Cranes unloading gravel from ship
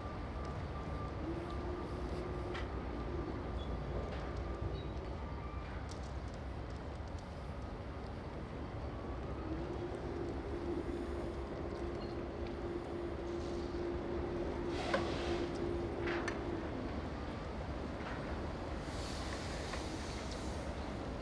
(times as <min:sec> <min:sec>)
0:13.2 0:21.2